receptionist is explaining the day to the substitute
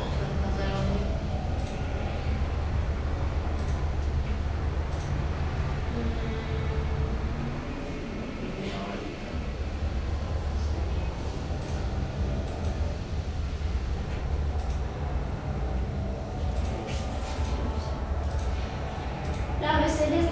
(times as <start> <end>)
19.6 20.3